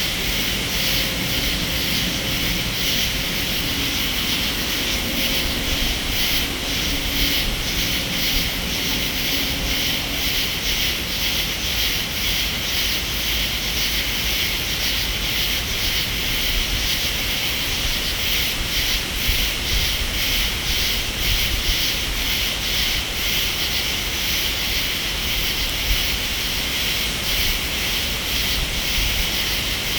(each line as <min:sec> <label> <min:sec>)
0:00.0 crickets 0:29.9
0:00.0 light rain 0:29.9